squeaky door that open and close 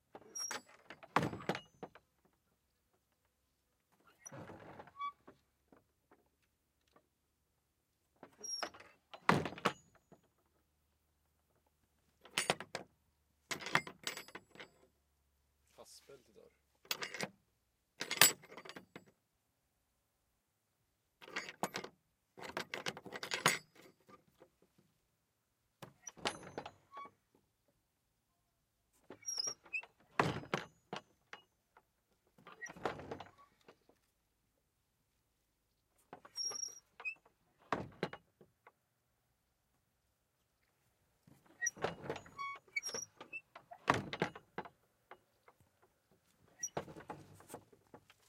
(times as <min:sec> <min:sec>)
0:00.2 0:01.8, 0:04.2 0:05.4, 0:08.3 0:10.0, 0:26.0 0:27.2, 0:29.2 0:31.0, 0:32.5 0:33.6, 0:36.2 0:38.2, 0:41.5 0:44.5, 0:46.6 0:47.1